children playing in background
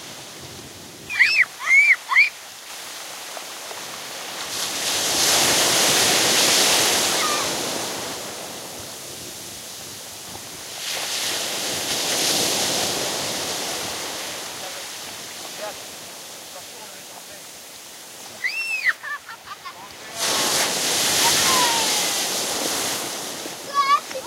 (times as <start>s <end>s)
21.2s 22.2s, 23.6s 24.2s